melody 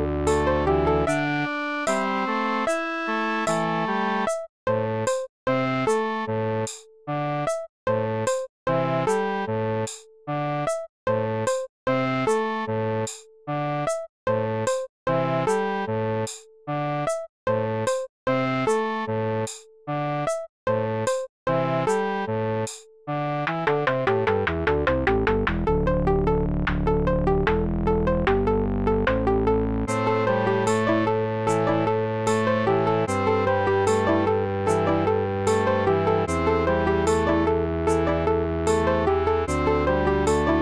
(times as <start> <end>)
0.0 4.3, 27.9 40.6